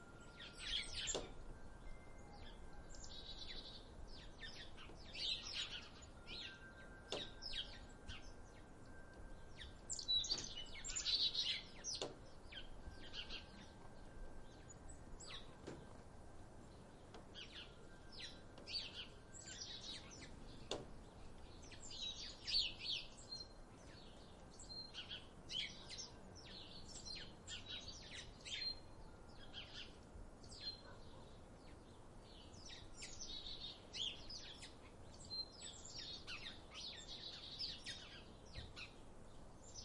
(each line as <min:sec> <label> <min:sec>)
0:00.0 windchimes 0:04.4
0:00.0 birds 0:39.8
0:05.1 windchimes 0:11.8